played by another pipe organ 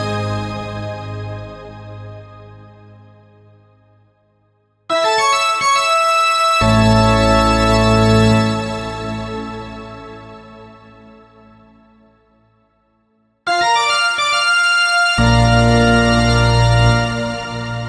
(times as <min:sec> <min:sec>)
0:04.9 0:10.1, 0:13.5 0:17.8